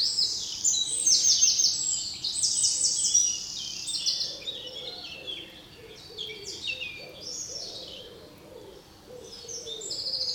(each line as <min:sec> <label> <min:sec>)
0:00.0 Eurasian Blue Tit 0:08.0
0:00.0 Common blackbird 0:10.3
0:00.0 Common robin 0:10.3
0:00.0 Eurasian Collared Dove 0:10.3
0:00.0 Eurasian Wren 0:10.3
0:02.4 Common Wood Pigeon 0:10.3
0:02.5 Common moorhen 0:10.3